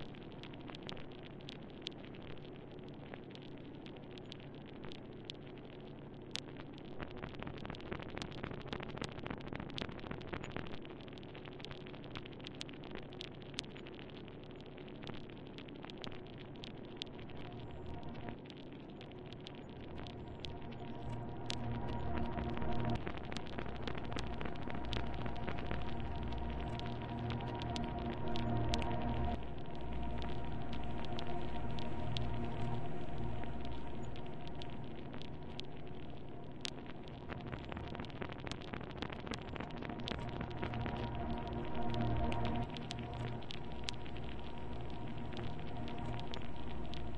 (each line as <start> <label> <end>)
0.0 background noise with subtle texture and glitches 47.1